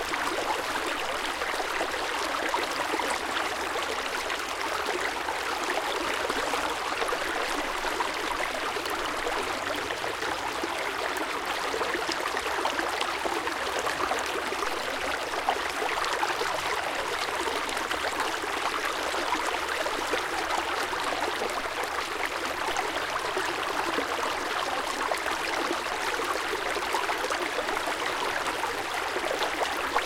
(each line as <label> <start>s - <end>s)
Small river 0.0s - 30.0s